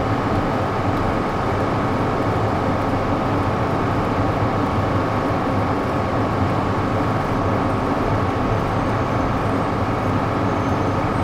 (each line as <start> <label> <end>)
0.0 fand and air conditioners are working at full power 11.2